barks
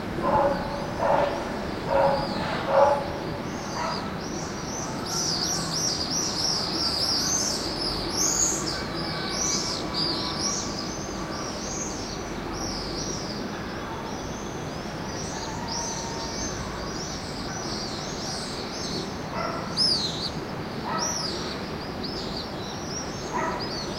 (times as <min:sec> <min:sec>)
0:00.2 0:04.2, 0:19.3 0:19.8, 0:20.9 0:21.2, 0:23.3 0:23.7